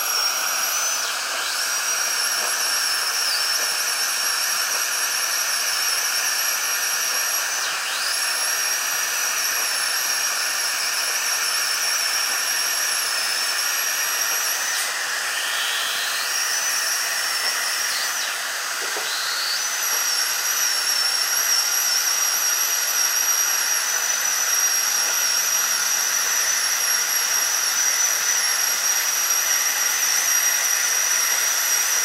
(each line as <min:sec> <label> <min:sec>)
0:00.0 drill 0:32.0